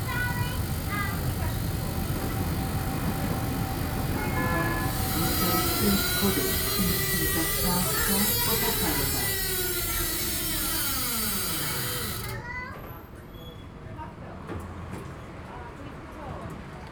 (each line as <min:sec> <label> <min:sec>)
0:00.0 strange sounds in tram #6 while driving downhill 0:13.0